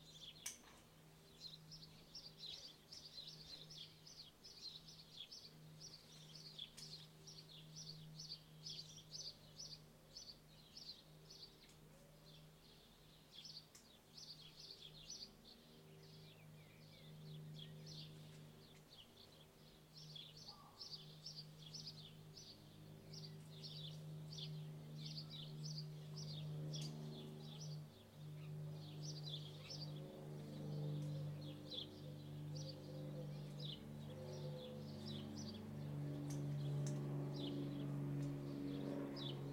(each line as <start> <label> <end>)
0.0 light aircraft passes above 39.5
13.4 birds call 39.5
20.4 distant childrens voices 21.2